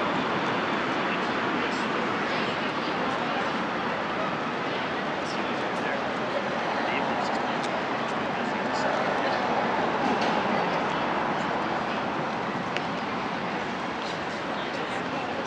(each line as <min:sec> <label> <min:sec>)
0:00.0 people walking, sitting, and/or talking 0:15.4
0:00.0 vehicles passing 0:15.4